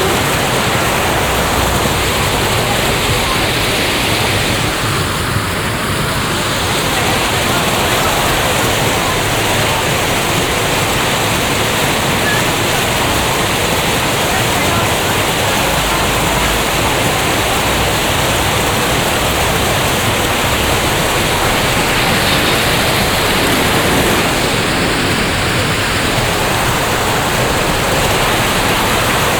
water spray of a modern fountain 0:00.0 - 0:29.3

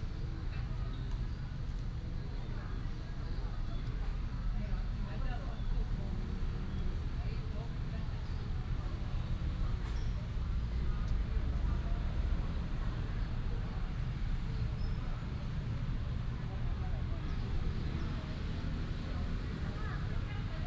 traffic sound 0:09.2 - 0:20.6

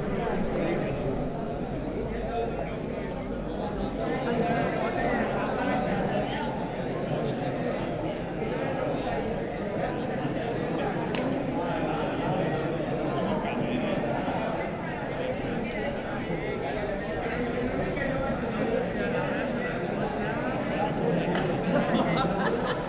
People having nice time 0:00.0 - 0:05.1

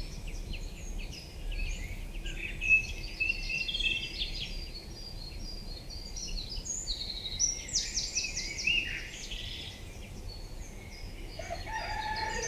Birds are singing 0:06.9 - 0:12.4

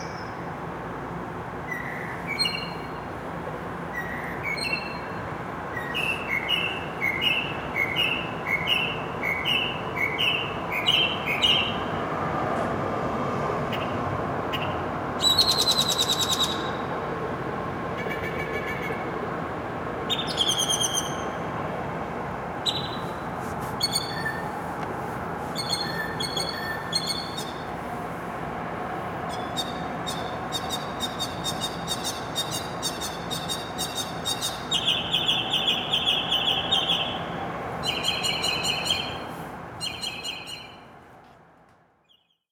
Solo Mockingbird Between Buildings 0:13.7 - 0:16.9
Solo Mockingbird Between Buildings 0:20.1 - 0:21.5
Solo Mockingbird Between Buildings 0:22.5 - 0:24.6
Solo Mockingbird Between Buildings 0:25.5 - 0:27.8
Solo Mockingbird Between Buildings 0:29.2 - 0:40.9

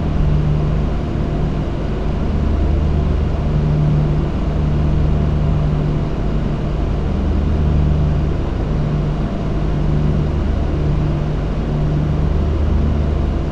Cooling Units Drone 0:00.0 - 0:13.5

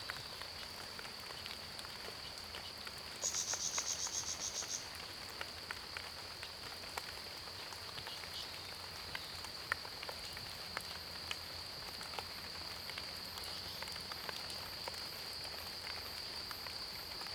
Cicadas cries 0:03.2 - 0:05.1

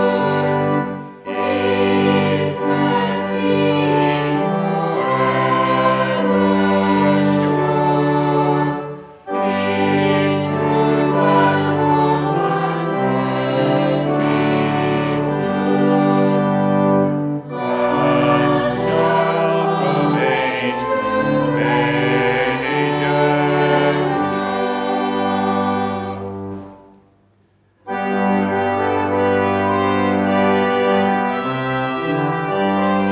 church choir rehearsal 0:00.0 - 0:27.1
church choir rehearsal 0:27.7 - 0:33.1

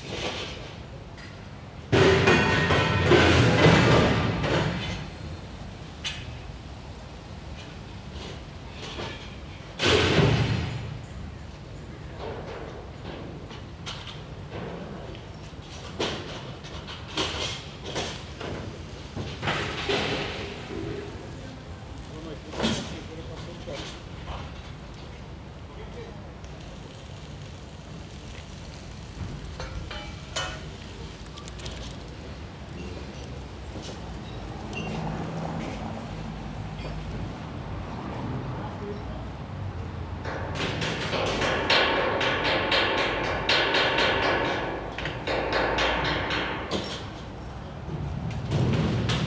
flame-cutter 0:23.8 - 0:32.4
hammering 0:40.3 - 0:47.1

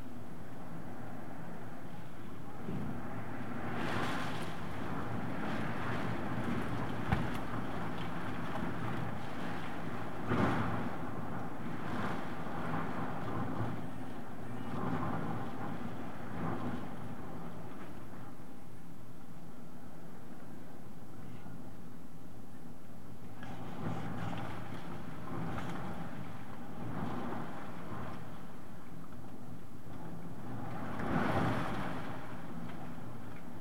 Hurricane beating the window 0:23.4 - 0:28.3

